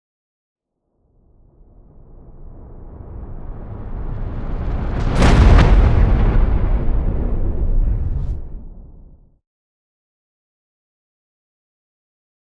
whoosh 4.6 - 9.3
Riser Hit 5.0 - 9.3
impact 5.0 - 9.3

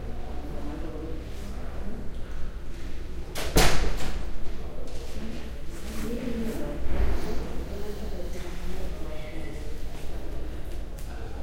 door opening and closing in a reverberant hall 3.3 - 4.4
soft talk and voices 4.1 - 11.4

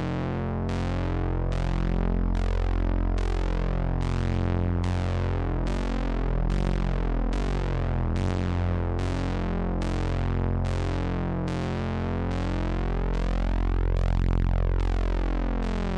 synth 14.4 - 15.9

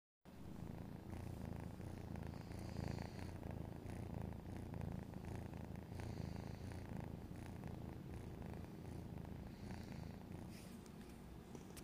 cat purring 0.3 - 11.8

